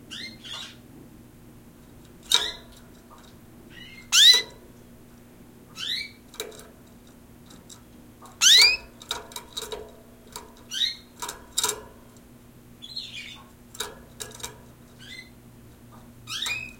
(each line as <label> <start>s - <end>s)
canary 0.1s - 0.8s
canary 2.2s - 2.8s
canary 3.7s - 4.6s
canary 5.7s - 6.7s
canary 8.3s - 12.0s
canary 12.8s - 15.4s
canary 16.2s - 16.7s